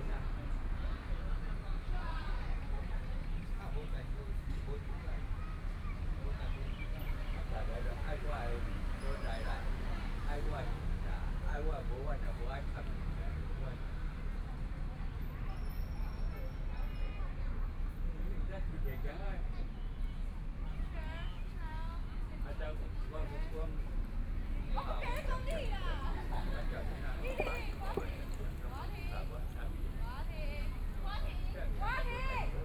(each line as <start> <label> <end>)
19.4 Traffic Sound 32.6
23.8 Tourist 32.6